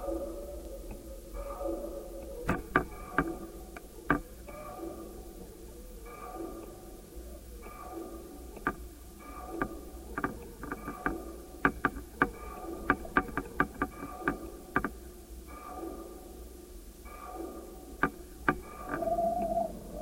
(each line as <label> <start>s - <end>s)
sounds traveling through the long steel elements of the wire 0.0s - 20.0s